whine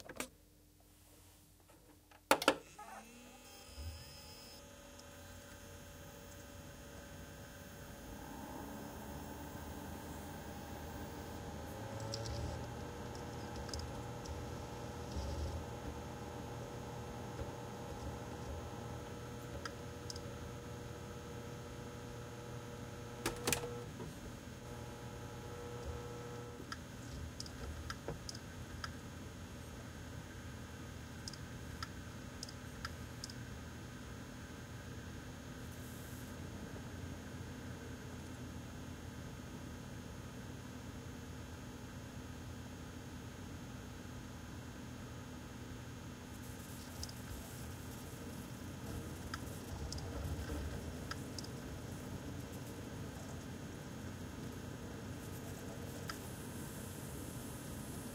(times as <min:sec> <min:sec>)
0:03.5 0:22.5